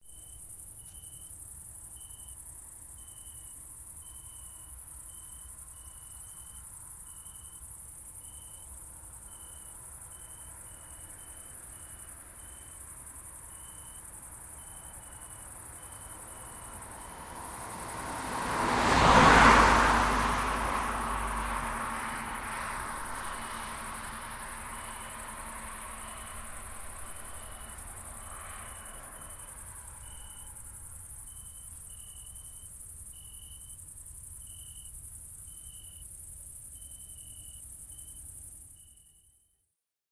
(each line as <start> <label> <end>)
0.0 cicades 39.4
0.0 crickets 39.5
10.0 Car passing by to the left of the microphone 32.7